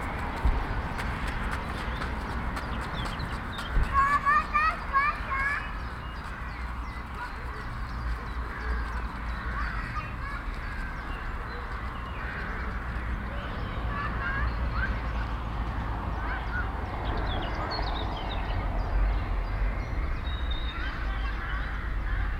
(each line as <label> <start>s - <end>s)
Birds 0.0s - 22.3s
children 0.0s - 22.3s
traffic 0.0s - 22.3s
people 3.6s - 17.1s